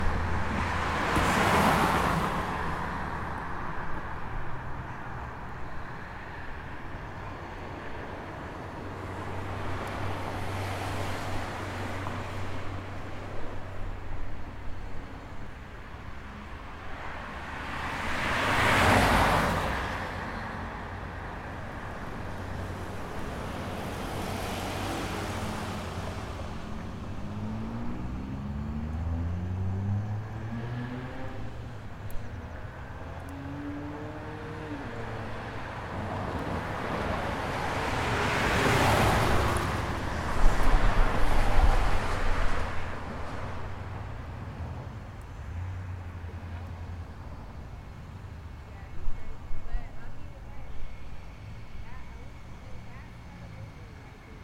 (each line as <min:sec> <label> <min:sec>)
0:00.0 cars tend to zip by 0:04.3
0:16.5 cars tend to zip by 0:47.1